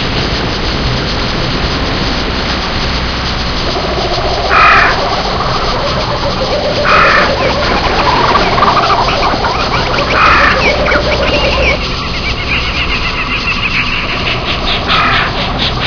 water 0:00.0 - 0:15.8
birds 0:03.7 - 0:15.8

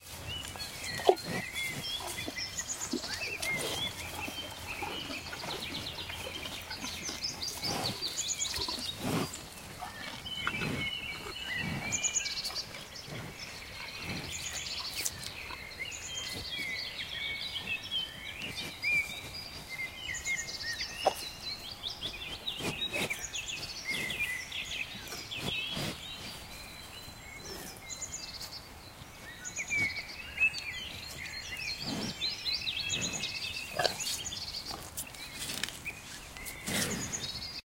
cattle eating grass 0:00.0 - 0:37.5

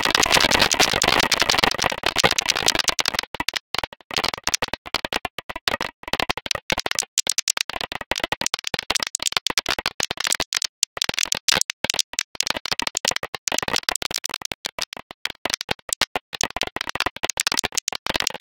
short clicks of noises 0:08.4 - 0:18.4

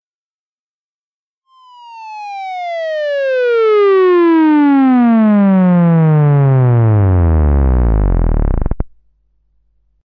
Moog Theremin Sweep 0:01.5 - 0:08.8

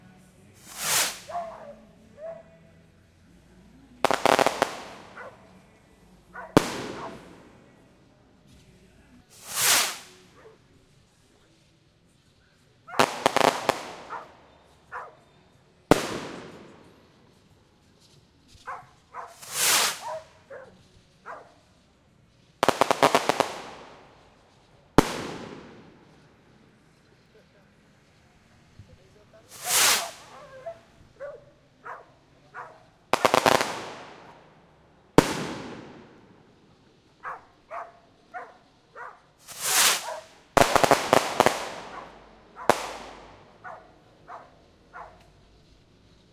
fireworks firecrackers close nice fizzle and pops 0:00.5 - 0:01.7
dog barking 0:01.3 - 0:02.5
fireworks firecrackers close nice fizzle and pops 0:03.6 - 0:46.3
dog barking 0:05.1 - 0:05.5
dog barking 0:06.3 - 0:07.2
dog barking 0:14.1 - 0:14.3
dog barking 0:14.9 - 0:15.3
dog barking 0:18.6 - 0:21.6
dog barking 0:30.0 - 0:32.8
dog barking 0:37.2 - 0:39.3
dog barking 0:40.0 - 0:40.3
dog barking 0:41.9 - 0:42.8
dog barking 0:43.6 - 0:45.3

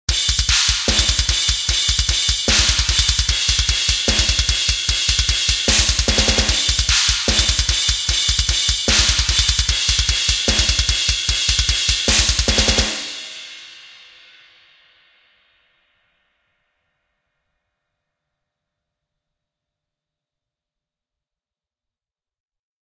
Bass 0:00.1 - 0:13.0
Cymbal 0:00.1 - 0:17.8
Snare 0:00.2 - 0:13.2

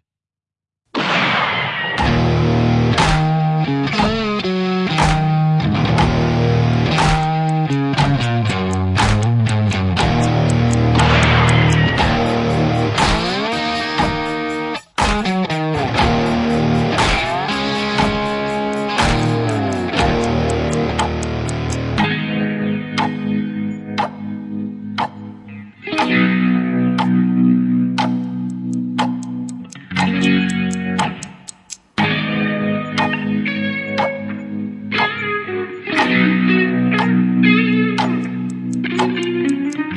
drums 0:02.0 - 0:05.3
drums 0:05.9 - 0:06.3
drums 0:06.9 - 0:21.3
clock 0:07.0 - 0:13.2
clock 0:17.0 - 0:21.8
clock 0:28.0 - 0:31.9
clock 0:38.0 - 0:39.9

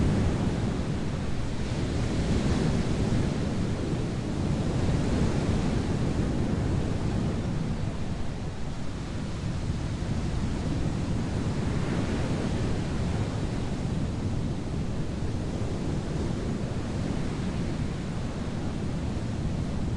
Big waves 0:00.0 - 0:19.9

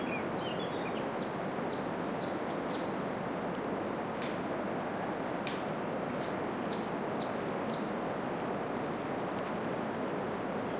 bird tweets 0:00.0 - 0:03.1

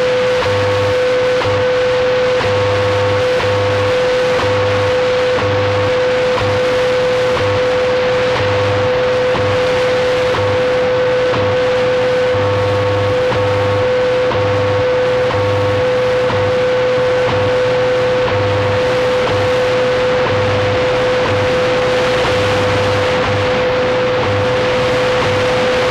Radio Static 0:00.0 - 0:25.9

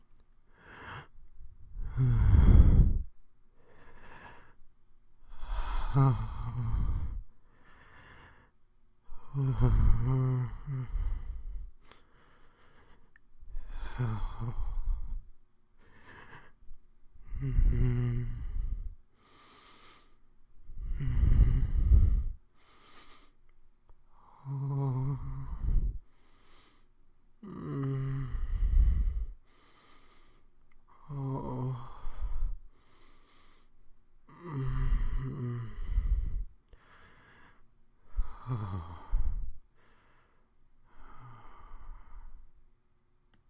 Sensual Breathing 0:00.4 - 0:42.6
moan 0:01.8 - 0:03.1
moan 0:05.3 - 0:07.2
moan 0:09.1 - 0:11.6
moan 0:17.2 - 0:18.9
moan 0:24.2 - 0:26.0
moan 0:27.4 - 0:29.3
moan 0:30.9 - 0:32.5
moan 0:34.3 - 0:36.5
moan 0:38.1 - 0:39.5

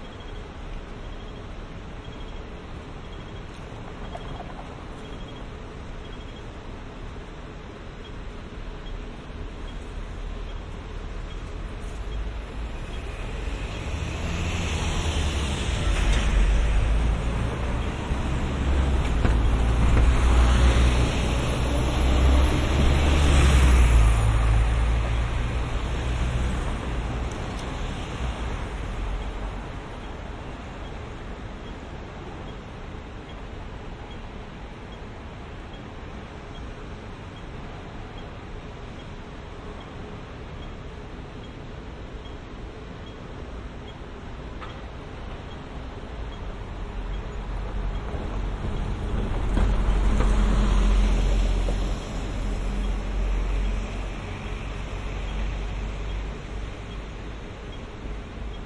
traffic 0:00.0 - 0:58.6

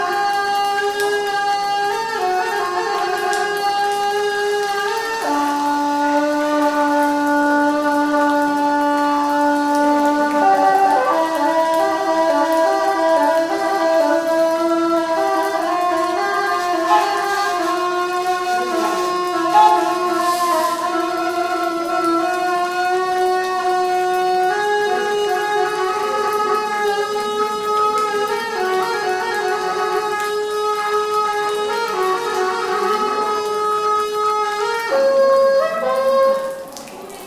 Buddhist Monk plays traditional horn (Gyaling) 0:00.0 - 0:36.7

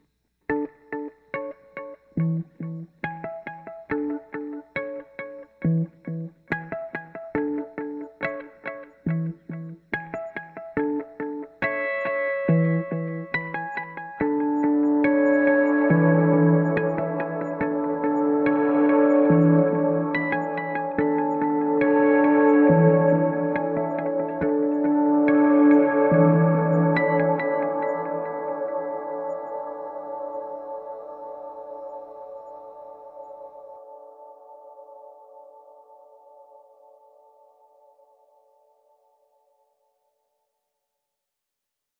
guitar 0:00.0 - 0:38.7

